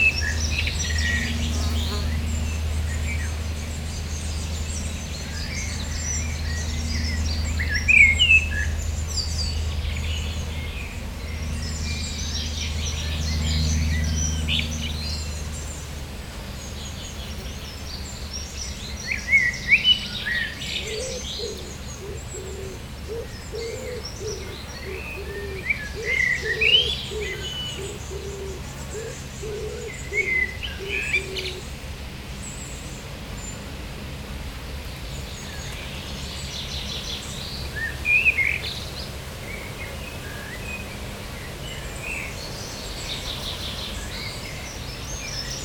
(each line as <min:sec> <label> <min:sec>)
0:00.0 planes 0:45.6
0:20.8 Common Wood Pigeon 0:31.6